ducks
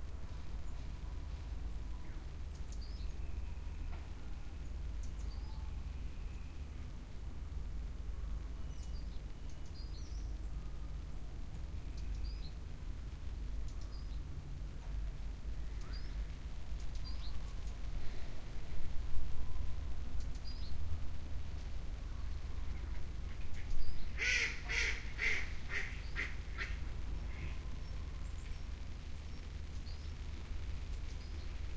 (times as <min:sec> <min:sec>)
0:22.8 0:27.7